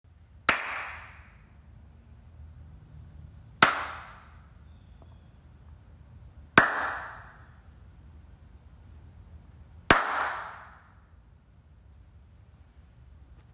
0.5s Hand claps 1.4s
3.6s Hand claps 4.4s
6.6s Hand claps 7.4s
9.9s Hand claps 10.8s

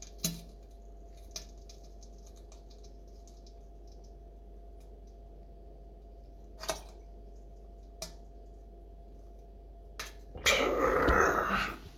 10.4s Genuine outgoing poop 11.9s

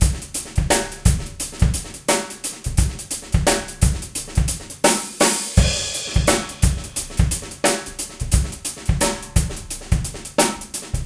0.0s Rock beat 11.0s

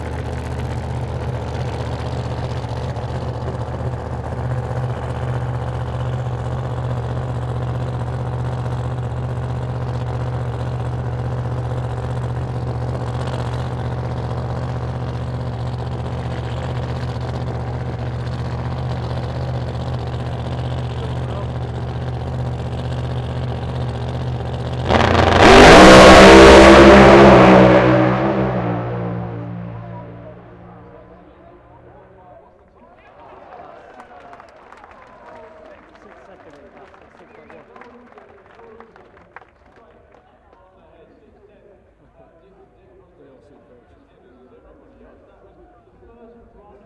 0.0s Dragster 32.7s

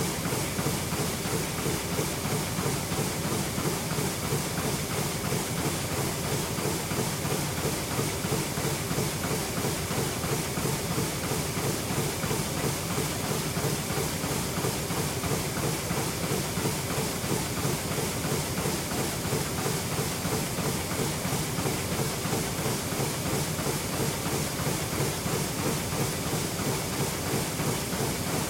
0.0s machine 28.4s

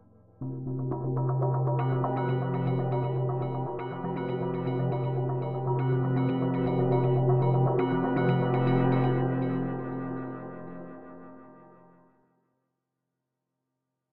0.4s synth keyboard sequence 11.4s

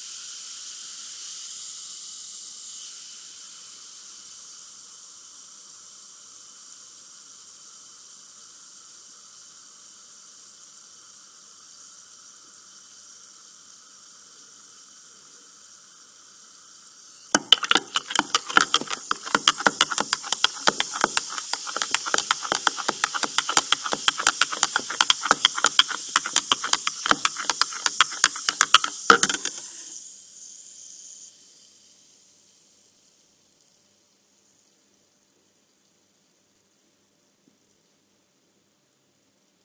17.4s effervescent Pill dissolving in water 29.9s

